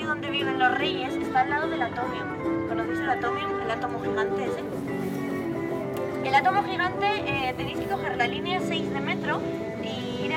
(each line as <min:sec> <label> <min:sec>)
0:00.0 tourist guide in spanish 0:10.3